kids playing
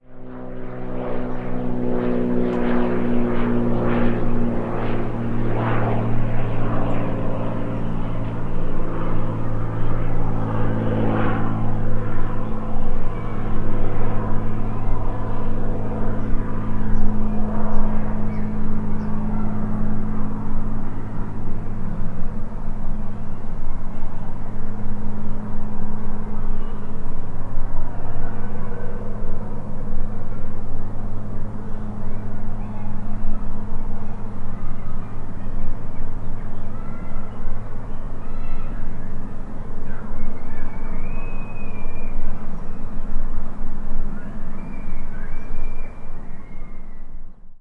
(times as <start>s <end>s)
32.5s 40.2s